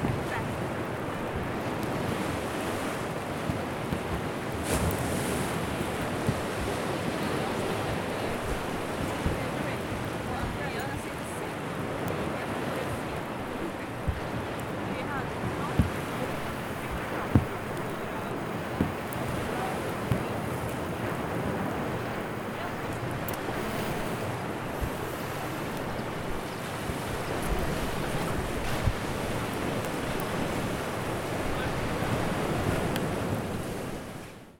seawaves 0.0 - 28.0
mobile radiowaves interference 0.0 - 34.2
rain is starting to drop on the zoom recorder 11.9 - 33.8
bumblebees is flying by 15.9 - 24.3
Mobile-camera photoclicks 15.9 - 24.3

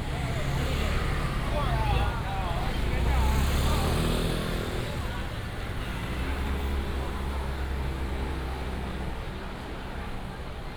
old people are lining up to collect rice 0.0 - 6.0

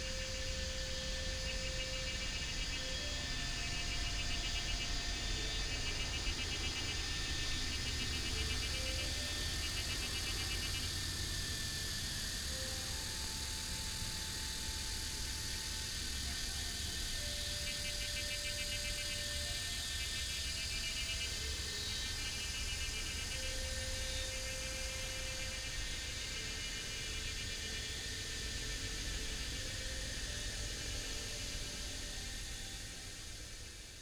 Cicadas cry 0.0 - 34.0

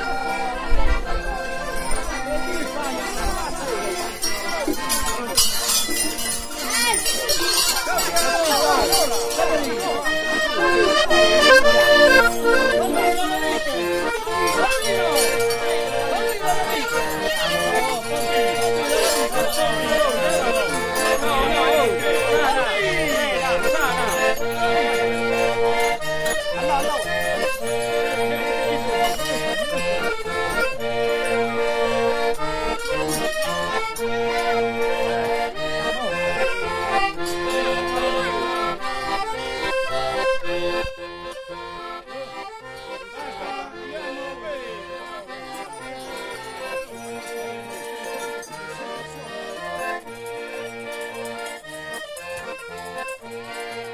Little accordeon 0.0 - 53.9
bells 0.0 - 53.9
voices 0.0 - 53.9

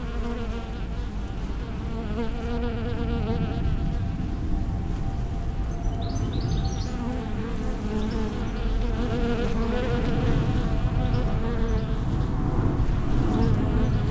hive of bees 0.0 - 4.2
planes 0.0 - 14.1
birds 5.0 - 14.1
hive of bees 5.8 - 14.1

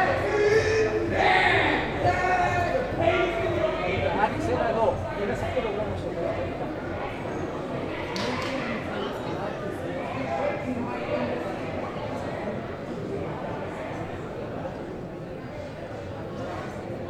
people partying on the street 0.0 - 8.1

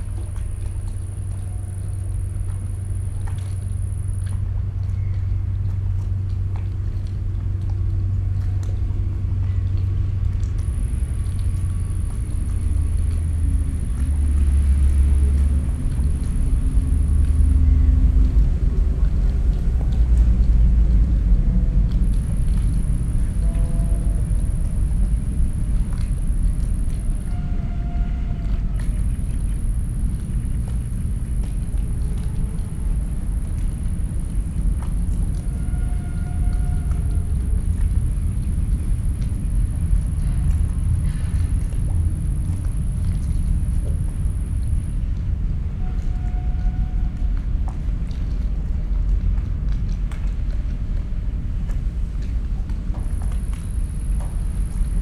distant sounds of harbour work 0.0 - 55.0
small waves hitting the body of a ship 0.0 - 55.0
quiet squeaking from the ship 1.3 - 2.8
quiet squeaking from the ship 4.9 - 5.6
heavy drones of a cargo train passing above me 17.5 - 42.2
quiet squeaking from the ship 23.2 - 24.8
quiet squeaking from the ship 27.1 - 29.0
quiet squeaking from the ship 35.4 - 37.3
heavy drones of a cargo train passing above me 44.4 - 48.9

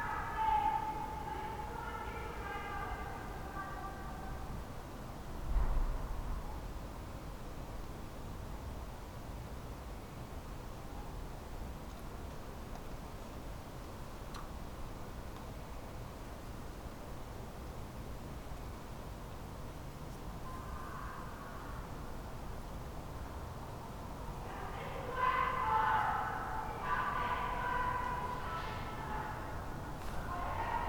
shouting 24.4 - 30.8

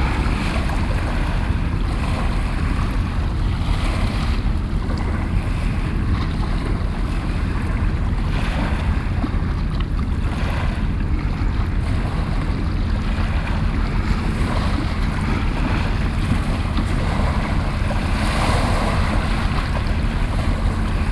Waves 0.0 - 21.1

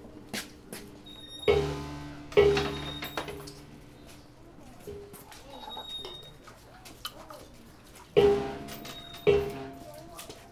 ringing a bell 8.7 - 9.7

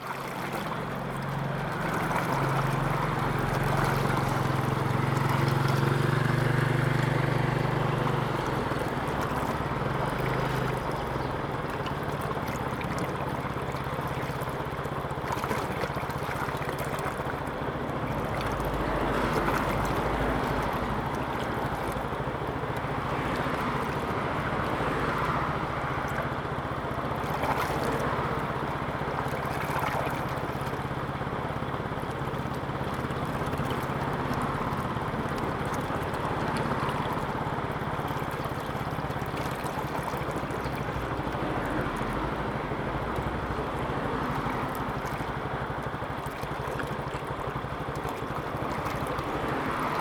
Irrigation waterway 0.0 - 50.0
Traffic Sound 0.2 - 50.0

